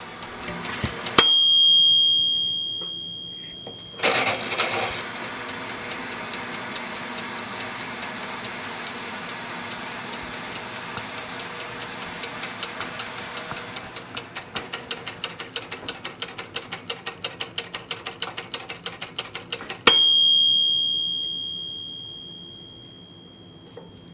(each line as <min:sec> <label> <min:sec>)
0:00.0 over timer clicking 0:03.0
0:00.0 overn timer-ding 0:24.1
0:04.0 over timer clicking 0:22.7